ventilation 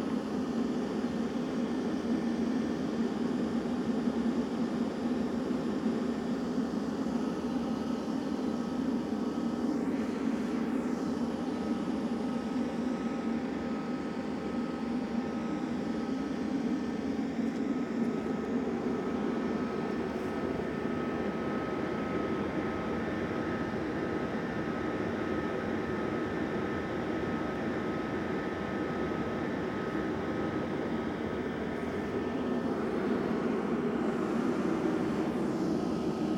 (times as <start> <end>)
29.8 36.3